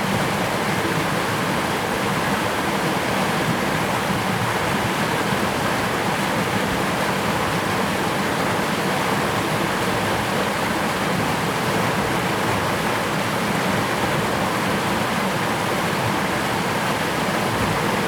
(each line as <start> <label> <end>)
0.0 water 18.0